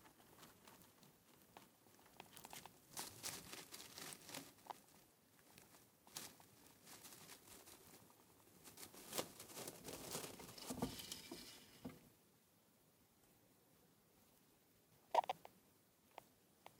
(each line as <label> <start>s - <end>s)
hamster eating 0.0s - 11.5s